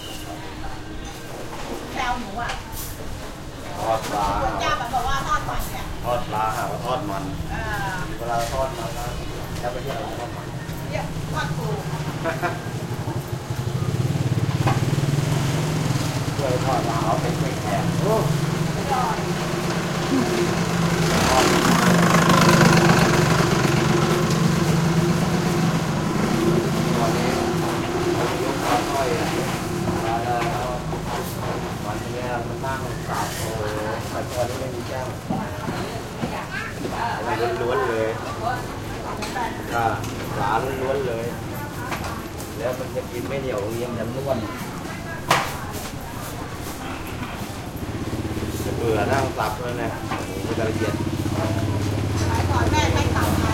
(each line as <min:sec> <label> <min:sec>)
0:00.0 side street market morning activity 0:53.5
0:06.2 motorcycles 0:53.5